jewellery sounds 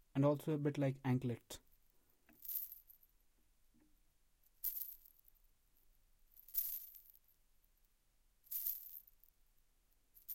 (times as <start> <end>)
2.3 3.1, 4.5 5.4, 6.3 7.3, 8.5 9.3